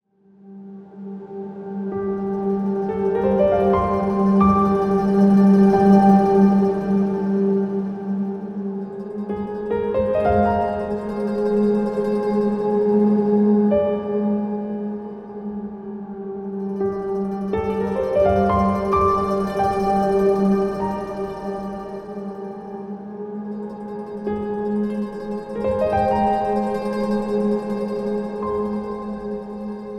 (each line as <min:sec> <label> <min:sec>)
0:01.2 gentle piano arpeggios 0:29.9